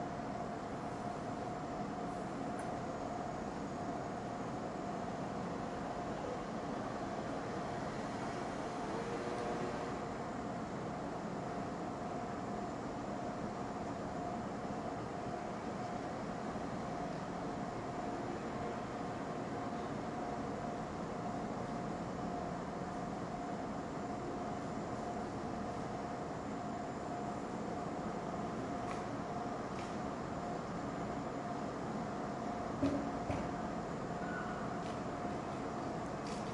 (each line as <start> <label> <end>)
0.0 Train 36.5